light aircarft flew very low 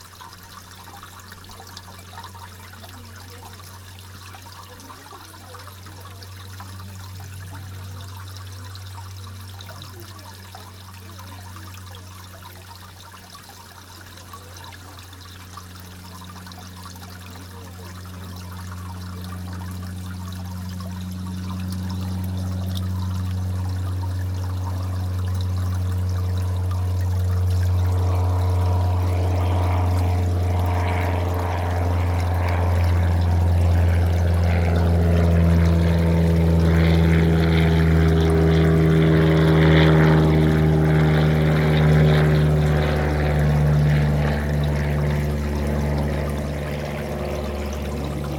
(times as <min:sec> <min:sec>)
0:26.1 0:48.3